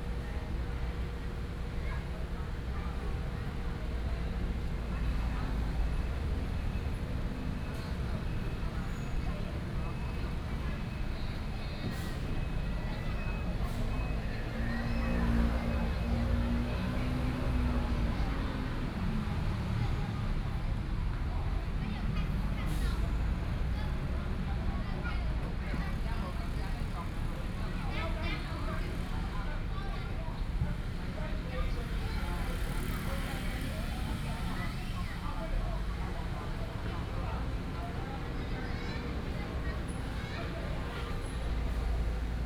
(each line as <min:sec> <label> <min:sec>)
0:28.5 Traffic Sound 0:42.4